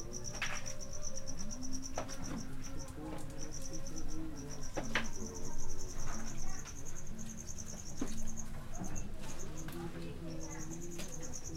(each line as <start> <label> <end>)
0.0 HI-Fi sounds 11.5
0.0 cricket 11.5
0.0 voices 11.5
1.1 man singing 6.1